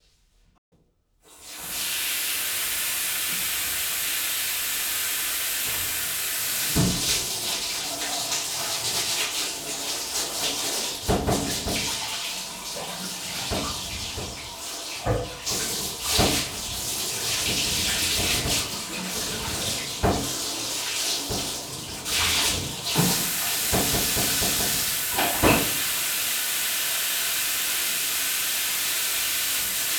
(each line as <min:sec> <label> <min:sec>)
0:01.2 filling a bathtub with water 0:29.9
0:01.4 dripping 0:29.9
0:15.5 splash 0:29.9